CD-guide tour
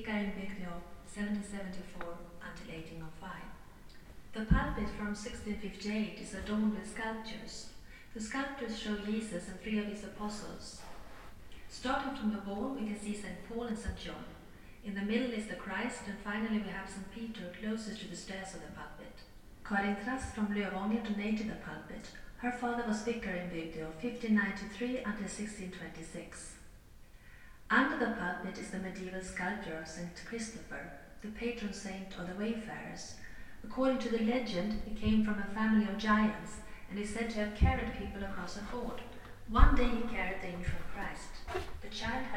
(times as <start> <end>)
0.0 14.3, 27.8 42.3